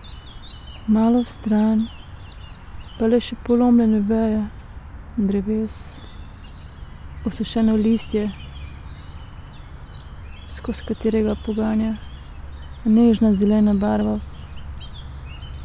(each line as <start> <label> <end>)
0.9 spoken words 1.9
5.2 spoken words 6.0
7.2 spoken words 8.4
10.5 spoken words 12.0
12.8 spoken words 14.2